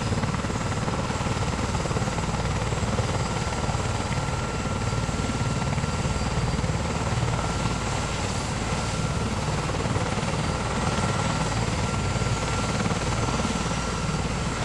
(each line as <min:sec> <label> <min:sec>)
0:00.0 helicopter 0:14.6